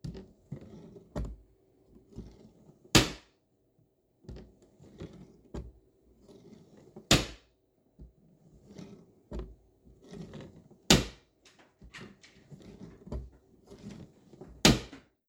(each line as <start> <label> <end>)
14.6 bread box door opening and closing 15.1